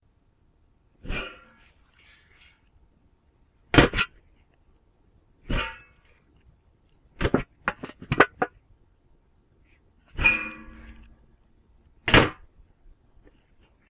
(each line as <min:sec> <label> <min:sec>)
0:03.7 Metal trash can lid opening & closing 0:04.2
0:10.1 Metal trash can lid opening & closing 0:11.2
0:12.0 Metal trash can lid opening & closing 0:12.5